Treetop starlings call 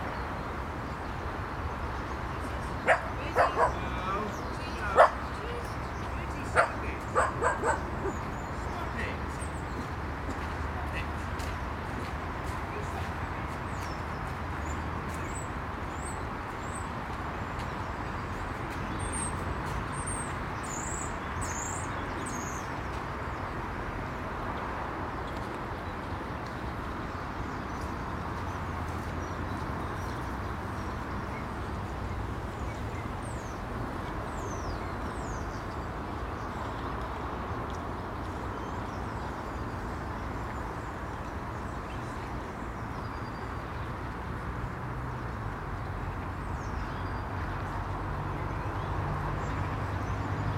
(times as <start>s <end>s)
17.6s 23.0s